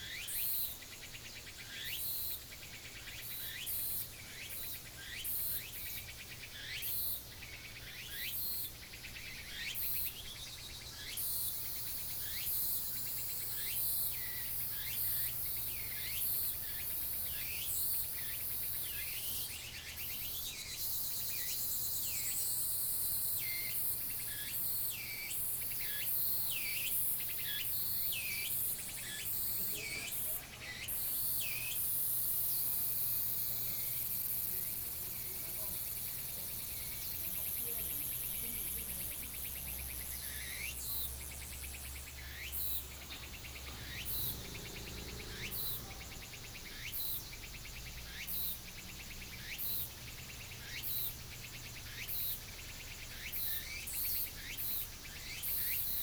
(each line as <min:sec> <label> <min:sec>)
0:35.2 Bird calls 0:47.8